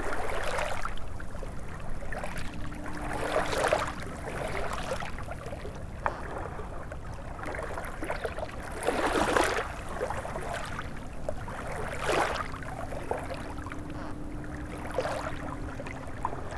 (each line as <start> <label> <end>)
0.0 river 16.5